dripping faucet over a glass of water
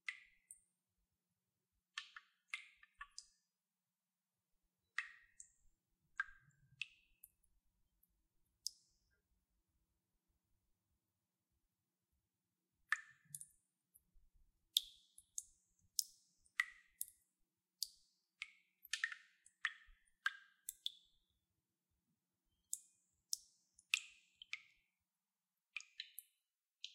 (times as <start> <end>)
12.8 13.6, 14.7 21.2